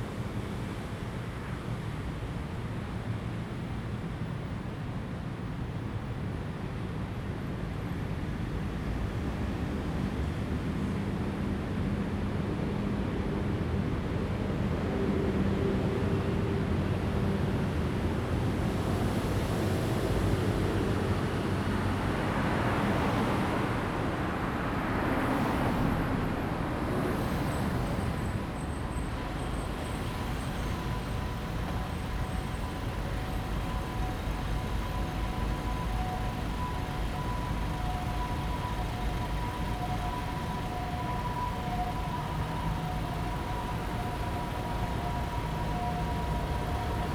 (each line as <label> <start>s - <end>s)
Traffic Sound 21.4s - 47.1s